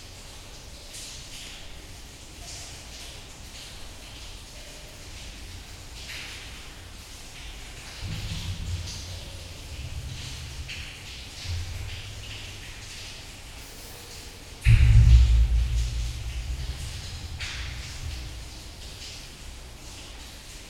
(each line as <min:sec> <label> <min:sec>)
0:00.0 underground river 0:20.6